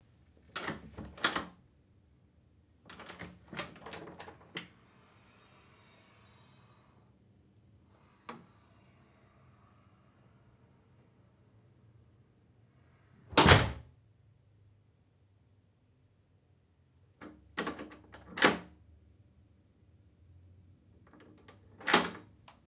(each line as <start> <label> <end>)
13.3 loud hotel door 13.8